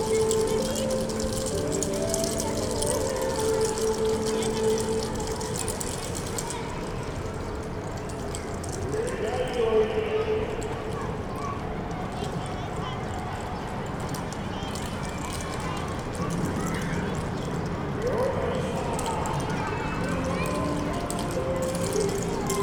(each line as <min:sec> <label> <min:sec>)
0:00.0 school children exercise to music 0:06.5
0:00.0 toy clappers 0:09.6
0:00.0 running around the school yard 0:22.6
0:10.6 toy clappers 0:22.6
0:18.1 school children exercise to music 0:22.6